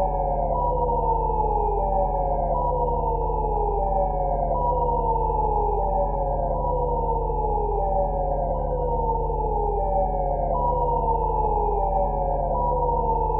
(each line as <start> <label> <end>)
0.0 synthetic siren sound 13.3